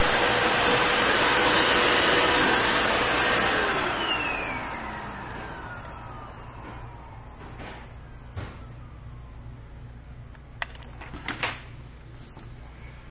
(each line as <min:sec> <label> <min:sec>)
0:00.0 vacuum cleaner 0:09.2